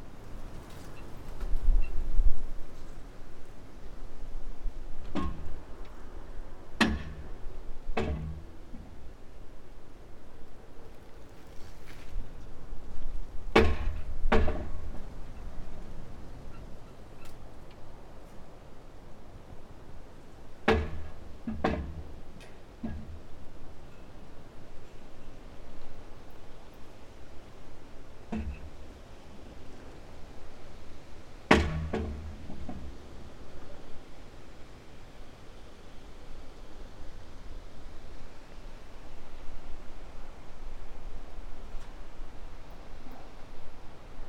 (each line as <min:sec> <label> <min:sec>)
0:04.7 broken reflector moved by wind, hitting metal column 0:09.2
0:12.1 broken reflector moved by wind, hitting metal column 0:15.8
0:20.6 broken reflector moved by wind, hitting metal column 0:24.9
0:28.2 broken reflector moved by wind, hitting metal column 0:29.7
0:31.5 broken reflector moved by wind, hitting metal column 0:33.1